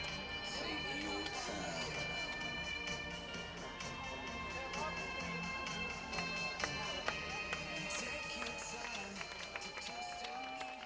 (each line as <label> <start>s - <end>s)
Cheers 7.2s - 10.8s